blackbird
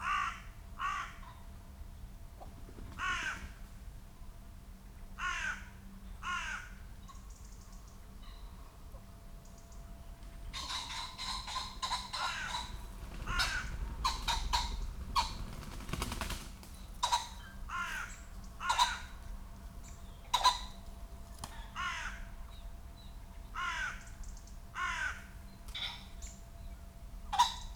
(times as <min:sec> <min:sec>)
0:10.5 0:26.4